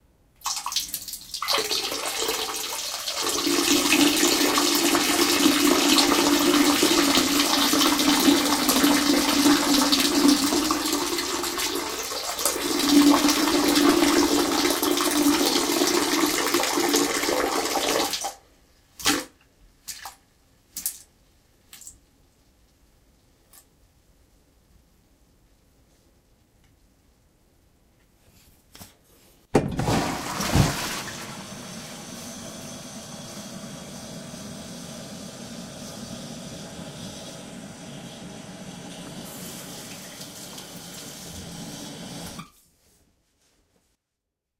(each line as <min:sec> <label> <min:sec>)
0:29.7 Peeing into the toilet bowl 0:31.3